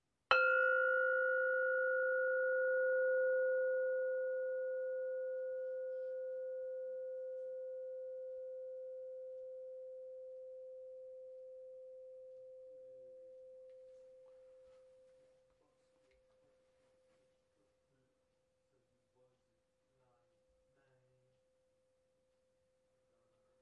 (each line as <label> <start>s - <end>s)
Pot lid tone, struck by a mallet 0.3s - 6.3s